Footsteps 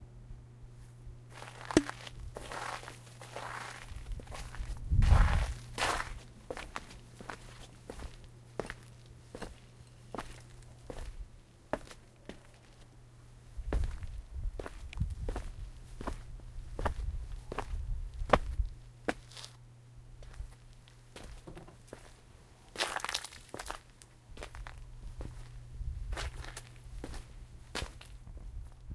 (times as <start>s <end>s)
1.4s 8.8s